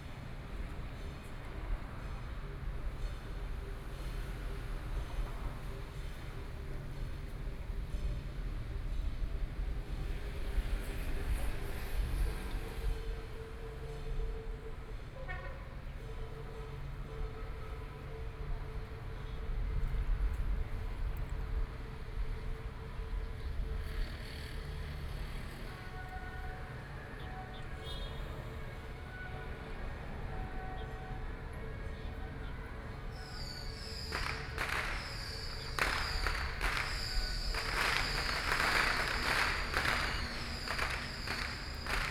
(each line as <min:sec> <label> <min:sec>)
0:33.2 Firework 0:42.1